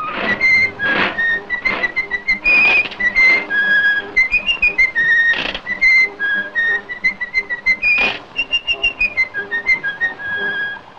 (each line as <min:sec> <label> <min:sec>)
0:00.0 Mickey mouse whistle 0:10.9